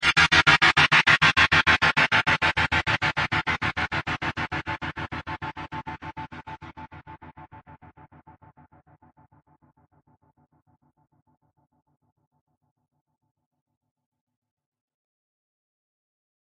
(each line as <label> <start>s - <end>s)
power chord stab processed through a gapper 0.0s - 8.9s